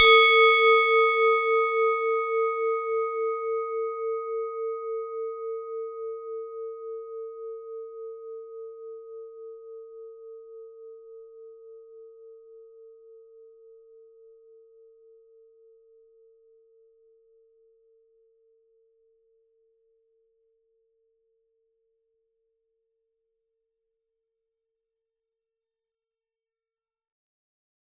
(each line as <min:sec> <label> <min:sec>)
0:00.0 Swiss cowbell 0:05.1